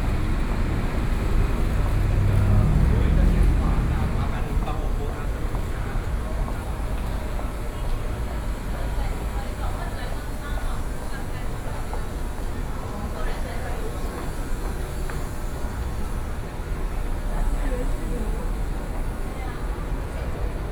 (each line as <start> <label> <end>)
0.0 Traffic Sound 6.5